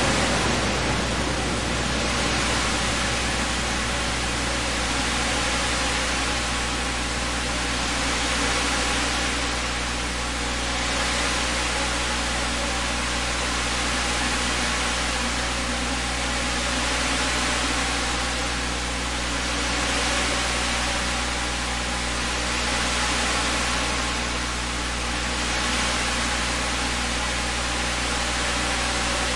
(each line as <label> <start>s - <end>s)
bass note 0.0s - 7.3s
waves 0.0s - 29.3s